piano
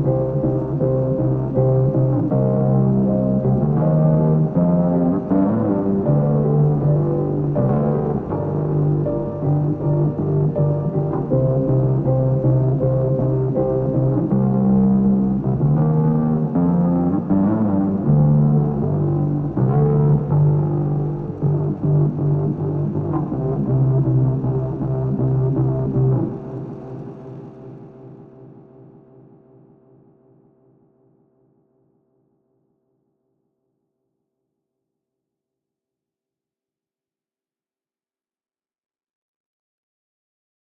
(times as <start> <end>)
0.0 30.5